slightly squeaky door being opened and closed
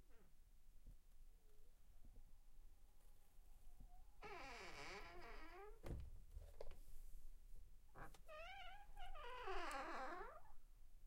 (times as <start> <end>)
4.2 6.1, 8.0 10.6